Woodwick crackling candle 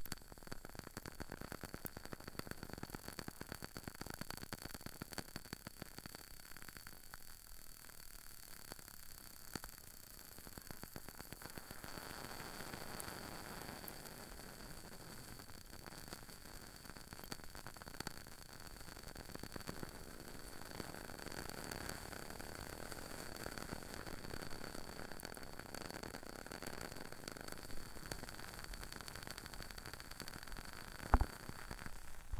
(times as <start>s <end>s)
8.6s 32.3s